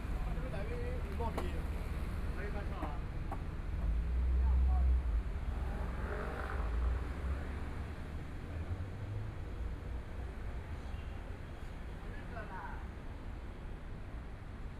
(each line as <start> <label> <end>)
0.0 Traffic Sound 11.4
0.0 walking in the small streets 14.7